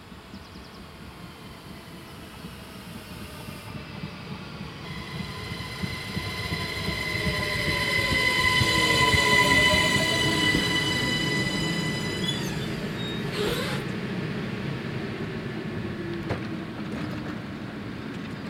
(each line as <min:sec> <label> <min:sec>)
0:00.0 train coming 0:18.4
0:04.8 Railway crossing bell 0:13.4